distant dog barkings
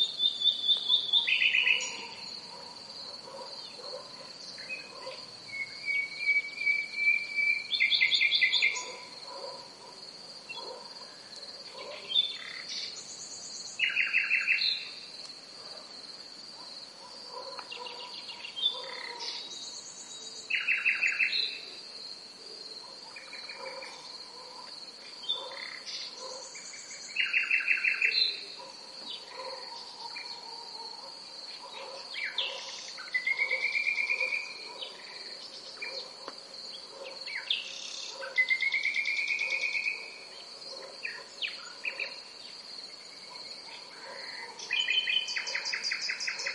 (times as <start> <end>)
0.9 5.3, 8.6 12.2, 15.6 15.9, 16.5 19.4, 22.8 26.6, 27.8 37.5, 38.1 38.5, 39.4 42.3, 43.2 46.5